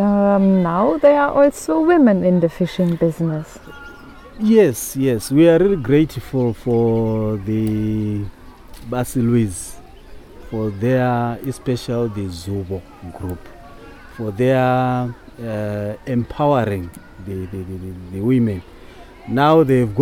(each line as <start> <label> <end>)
3.7 welcomes and praises the work 9.8
10.4 welcomes and praises the work 18.6